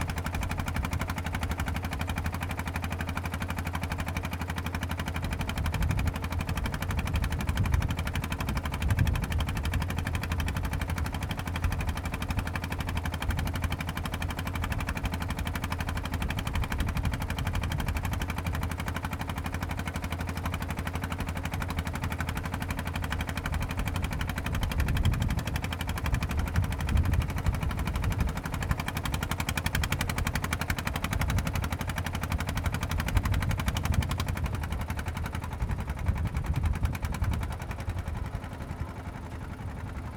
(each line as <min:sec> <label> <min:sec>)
0:00.0 Small truck traveling at sea 0:40.1